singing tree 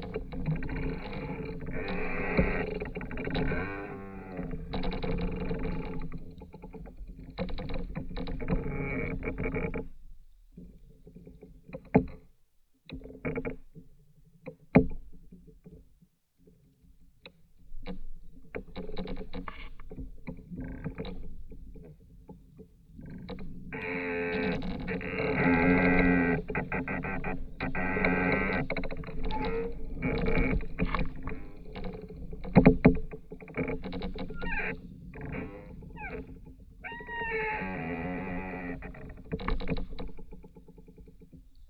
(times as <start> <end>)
34.2 38.9